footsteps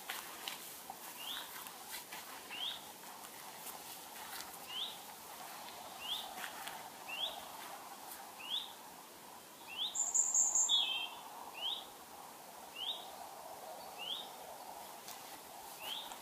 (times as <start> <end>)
0.0 8.3